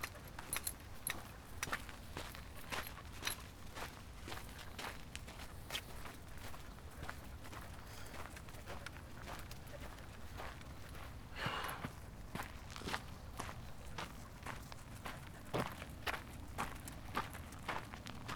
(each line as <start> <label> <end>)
0.0 walking the dog 18.3